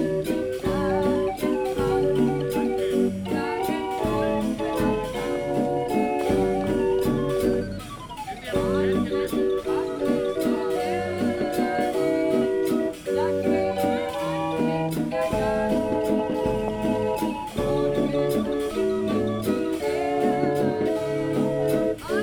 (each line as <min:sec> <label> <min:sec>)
0:00.0 solid-state hurdy-gurdy 0:13.3